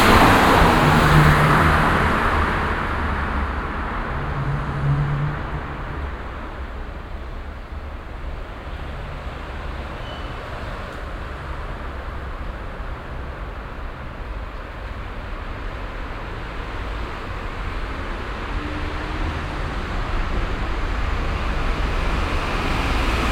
verkehrsintervall das resonieren der tunnelstrecke 0:00.0 - 0:09.0

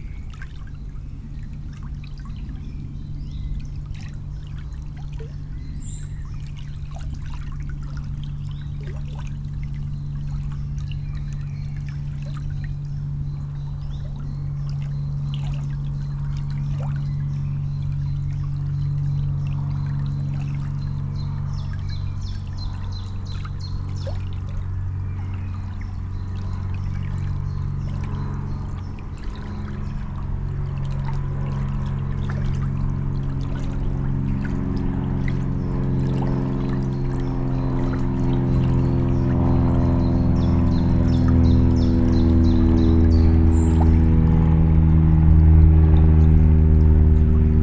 plane 0:00.0 - 0:47.6
quiet river 0:00.0 - 0:47.6

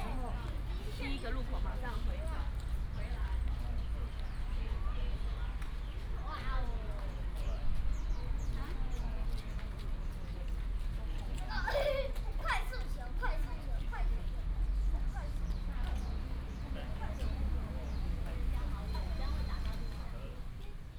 Traffic sound 0:00.0 - 0:20.9
Child 0:11.4 - 0:14.3
birds 0:14.8 - 0:20.2

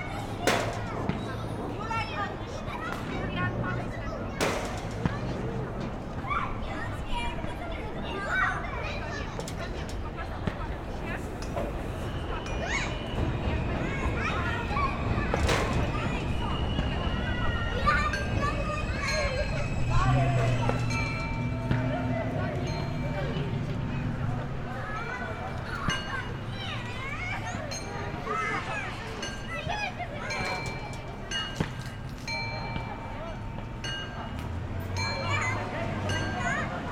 Kids playing 0:00.0 - 0:36.9
traffic 0:00.0 - 0:36.9
bells 0:11.2 - 0:36.9
M train 0:11.4 - 0:25.3

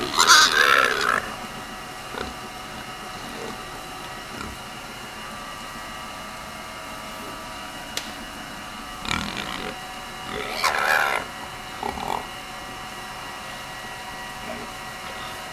Dogs barking 0:00.0 - 0:15.5
Feed delivery piping voice 0:00.0 - 0:15.5

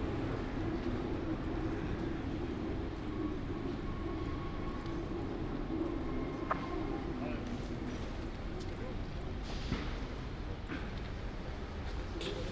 walking from Airbnb flat to the metro 0:00.0 - 0:12.5

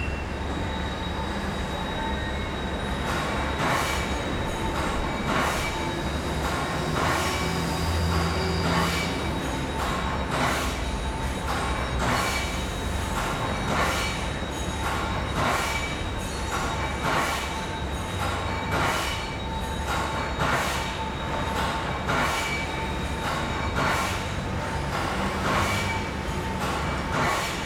voice of the factory 0:00.0 - 0:27.6

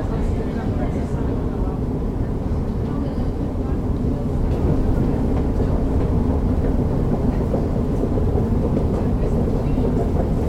singing escalators 0:00.0 - 0:10.4

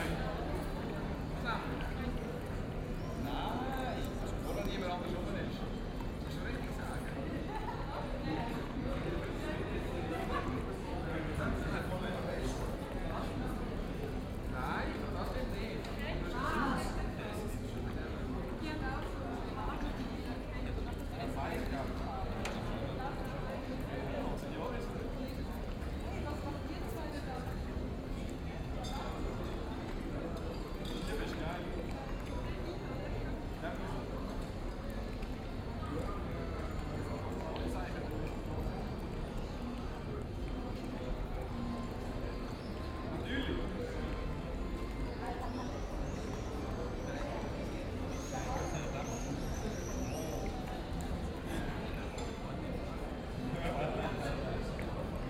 people in restaurants chat 0:00.0 - 0:55.2

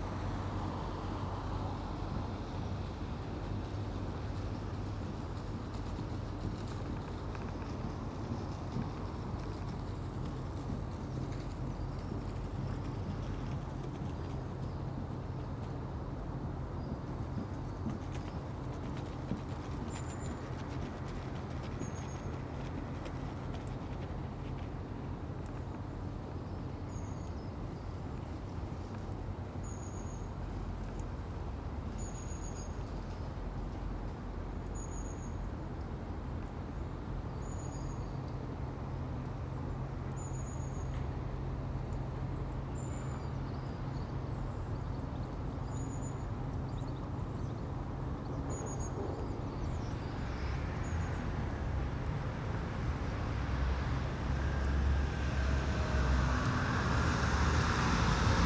Traffic slowed 0:00.0 - 0:58.4
A runner 0:03.5 - 0:15.9
A runner 0:16.8 - 0:25.9

